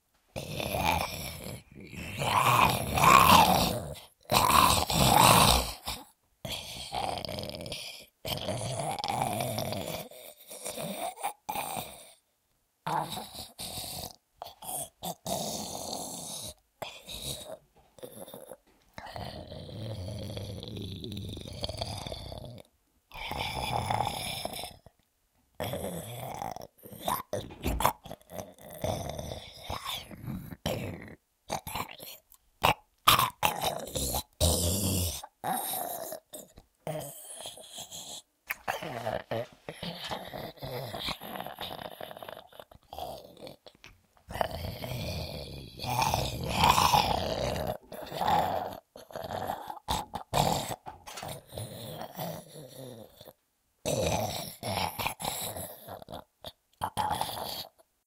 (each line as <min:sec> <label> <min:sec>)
0:00.4 creepy zombie voice 0:12.0
0:25.6 creepy zombie voice 0:57.8